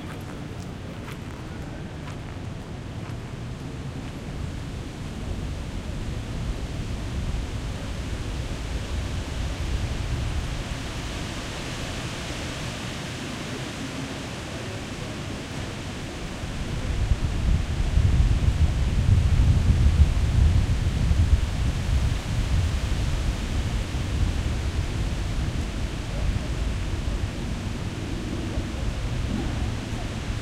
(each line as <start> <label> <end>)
0.0 footsteps 4.2
0.0 recently arrived spring migrants 30.4
0.0 wind 30.4